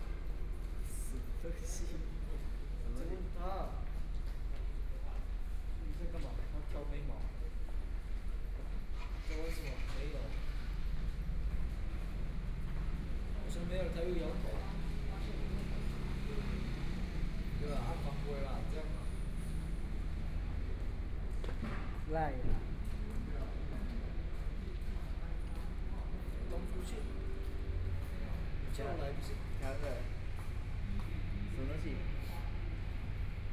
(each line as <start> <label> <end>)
1.4 Dialogue among high school students 33.5
25.8 Traffic Sound 33.5